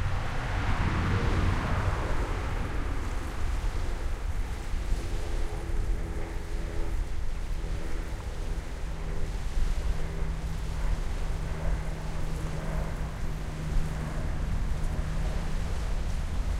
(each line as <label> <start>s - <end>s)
boats 0.0s - 16.5s
waves 0.0s - 16.5s
wind 0.0s - 16.5s